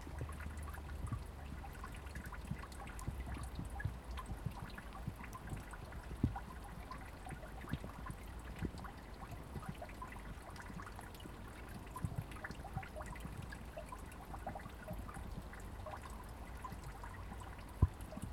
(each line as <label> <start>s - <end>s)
Rainwater 0.0s - 18.3s